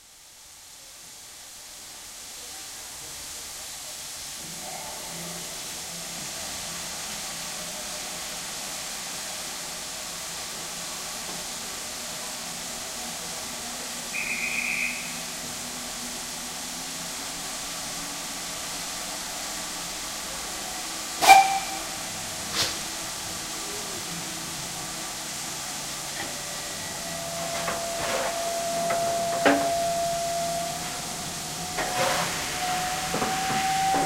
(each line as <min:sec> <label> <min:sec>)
0:00.0 Steam hiss 0:34.0
0:00.1 steam train leaving 0:34.0
0:14.1 train whistle (brief) 0:15.6
0:14.2 guard's whistle 0:15.2
0:21.2 train whistle (brief) 0:22.8
0:21.2 guard's whistle 0:21.9
0:26.1 train whistle (brief) 0:34.0